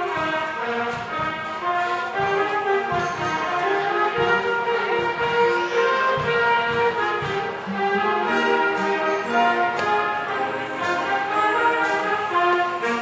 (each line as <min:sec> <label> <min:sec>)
0:00.0 crowd 0:13.0
0:00.0 saxophone 0:13.0
0:00.0 youth orchestra 0:13.0